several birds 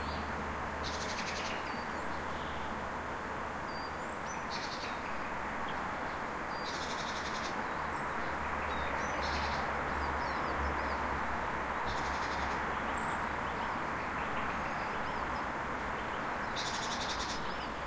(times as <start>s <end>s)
11.8s 17.8s